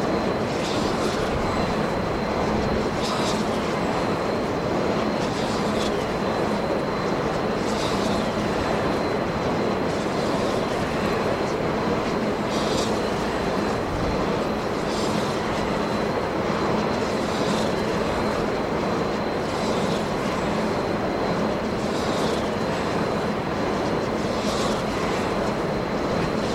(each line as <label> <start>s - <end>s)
Large wind generators 0.0s - 26.5s